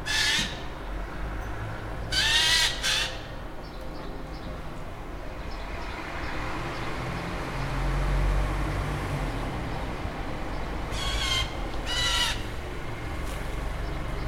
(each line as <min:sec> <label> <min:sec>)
0:05.6 garden machines passing by 0:14.2